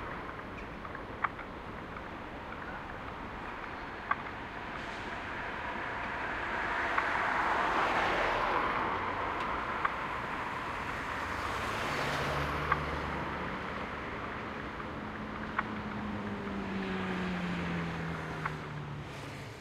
0.0s traffic 19.6s
0.0s ticking of traffic lights 6.2s
9.3s ticking of traffic lights 11.4s
12.4s ticking of traffic lights 16.0s

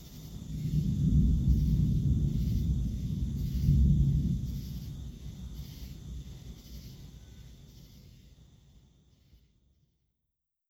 0.0s bugs 9.4s
0.5s short thunder rumble 5.2s

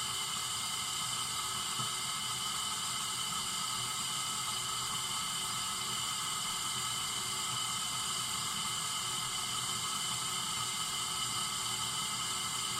0.0s Boiling Kettle on Gas 12.7s
0.0s hiss 12.7s

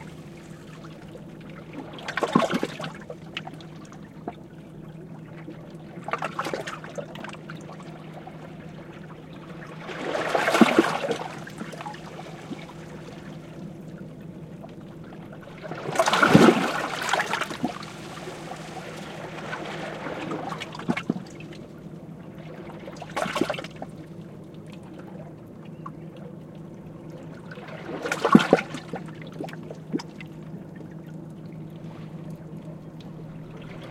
0.0s waves between rocks 4.1s
0.0s motor boat engine 33.9s
5.4s waves between rocks 14.0s
15.1s waves between rocks 24.0s
27.2s waves between rocks 30.3s
31.8s waves between rocks 33.9s

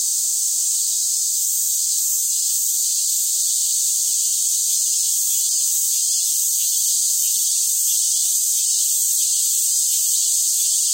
0.0s cicadas 10.9s

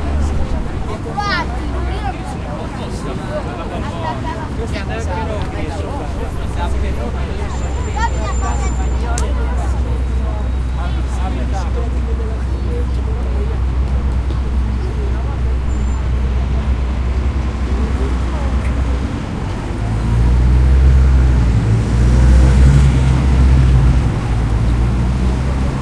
0.0s Traffic sounds echoes 25.8s

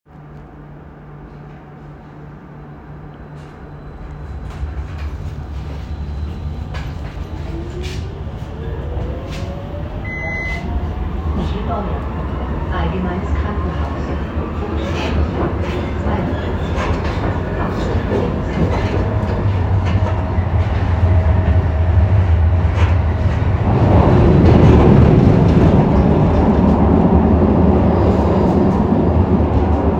0.1s interior rumble 29.9s
0.6s train pulling out of the station 29.9s
10.0s official station announcement 16.6s
10.0s door warning beeps 10.7s

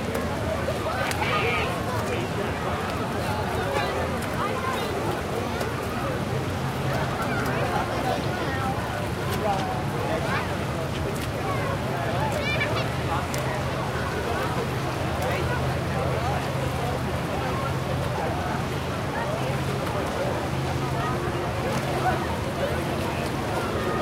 0.0s Large Crowd 24.0s

